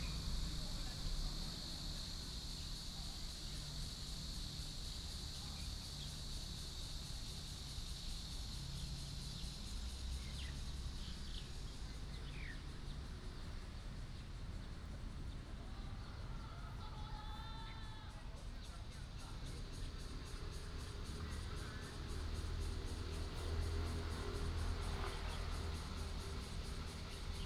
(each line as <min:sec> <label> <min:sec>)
0:00.0 Cicada cry 0:27.4
0:00.0 traffic sound 0:27.4